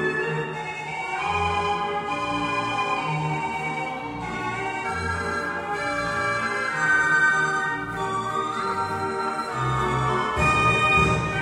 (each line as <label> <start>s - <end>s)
Philharmonic Organ 0.0s - 11.4s